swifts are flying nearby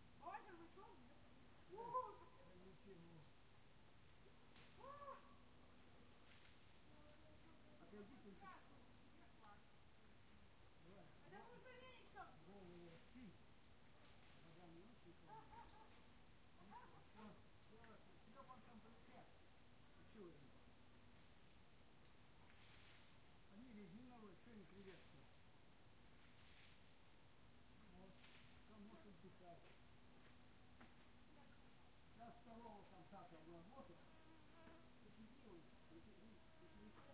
0:11.1 0:19.4, 0:22.2 0:25.4, 0:26.1 0:37.1

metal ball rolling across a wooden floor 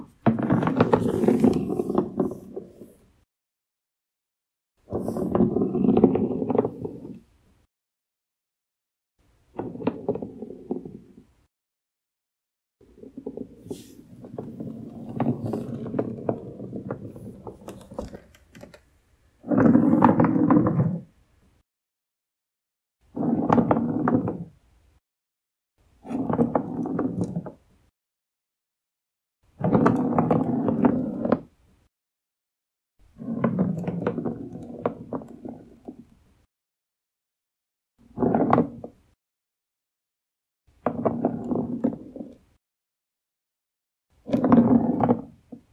0:00.2 0:03.0, 0:04.9 0:07.3, 0:09.5 0:11.2, 0:12.9 0:18.4, 0:19.4 0:21.1, 0:23.1 0:24.6, 0:26.0 0:27.6, 0:29.5 0:31.6, 0:33.1 0:36.1, 0:38.1 0:39.1, 0:40.8 0:42.5, 0:44.2 0:45.7

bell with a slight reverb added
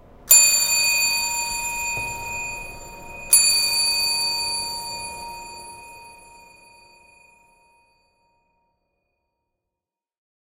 0:00.3 0:08.4

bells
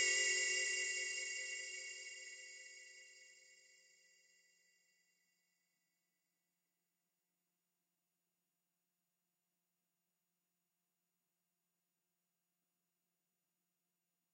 0:00.0 0:03.4

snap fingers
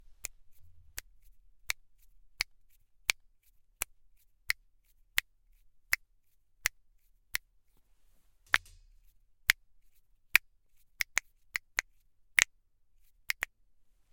0:05.9 0:07.5, 0:10.4 0:12.5, 0:13.3 0:13.6

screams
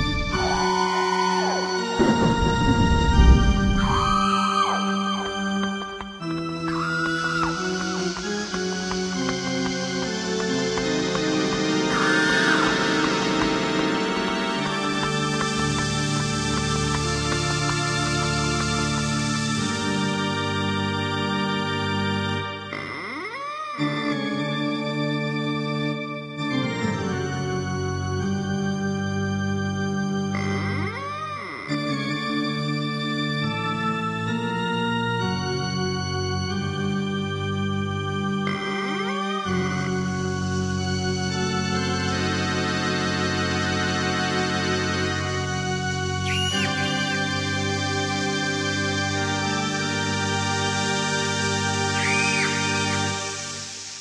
0:00.0 0:05.7, 0:06.3 0:08.5, 0:11.7 0:15.2, 0:46.2 0:48.0, 0:51.7 0:54.0

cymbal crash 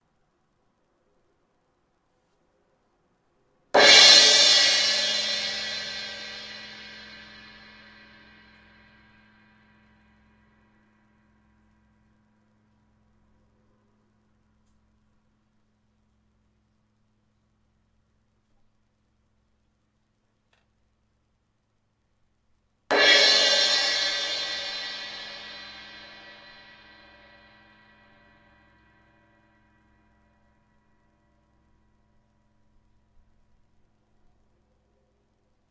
0:03.8 0:09.2, 0:22.9 0:28.8

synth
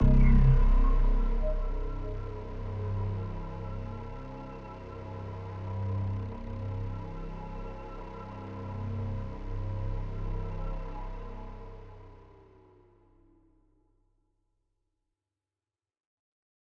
0:00.0 0:12.8

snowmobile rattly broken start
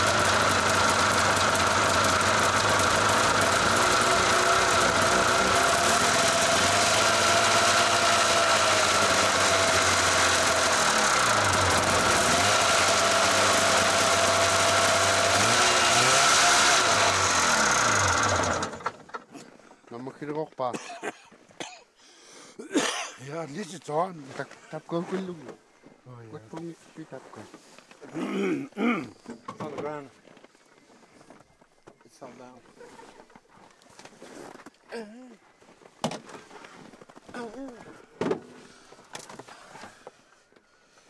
0:00.0 0:19.3

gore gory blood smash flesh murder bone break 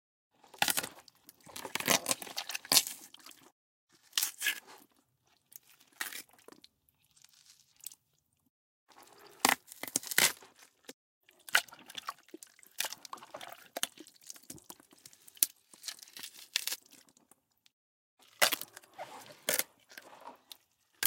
0:00.6 0:03.2, 0:09.4 0:10.5

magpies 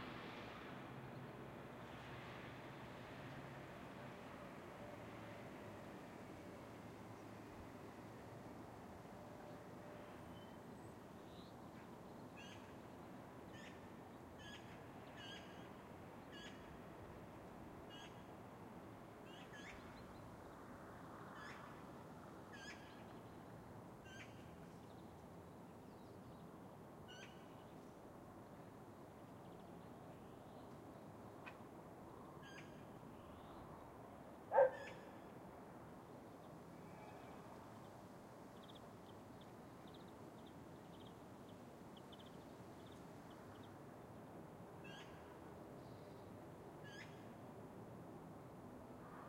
0:34.5 0:35.0

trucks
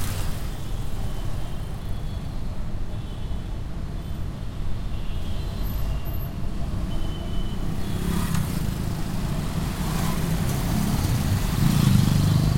0:05.6 0:12.5

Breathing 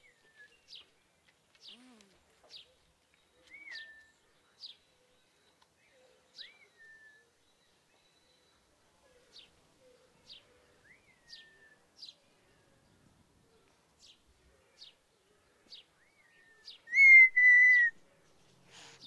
0:18.4 0:19.0

